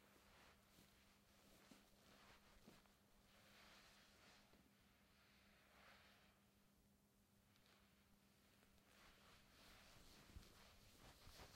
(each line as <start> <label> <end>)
0.0 person in cotton fabric moving 6.6
7.2 person in cotton fabric moving 11.5